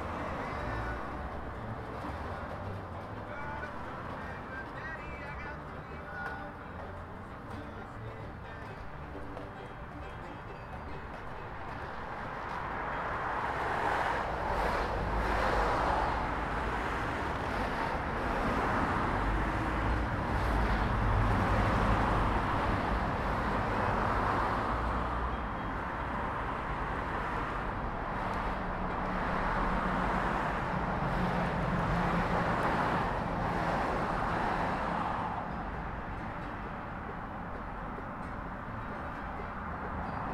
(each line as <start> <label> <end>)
0.0 People were playing bluegrass 40.3
0.0 Traffic 40.3